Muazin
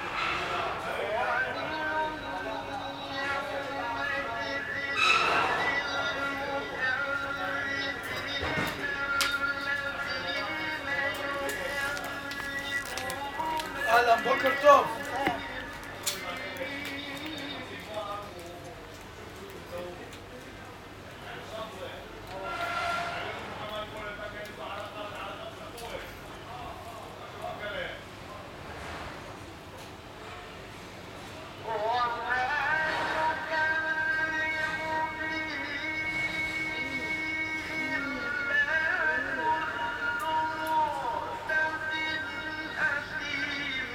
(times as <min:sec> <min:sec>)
0:00.0 0:20.3